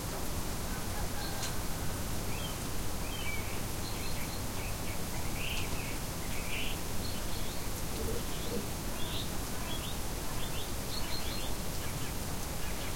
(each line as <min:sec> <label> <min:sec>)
0:06.8 rain and snow was falling 0:12.9